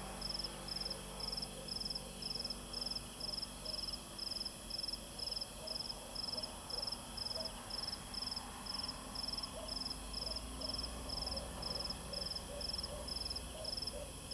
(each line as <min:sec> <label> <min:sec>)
0:05.6 Dog barking 0:07.6
0:09.5 Dog barking 0:10.8
0:12.2 Dog barking 0:14.3